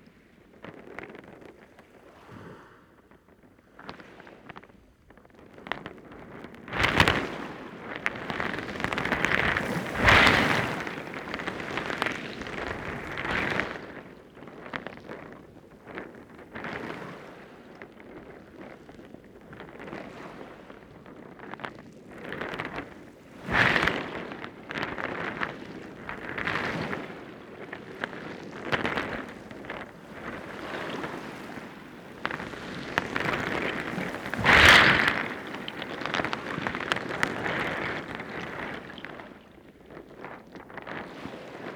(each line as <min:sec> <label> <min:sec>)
0:06.8 High tide waves heard from under the stones 0:14.1
0:22.5 High tide waves heard from under the stones 0:41.7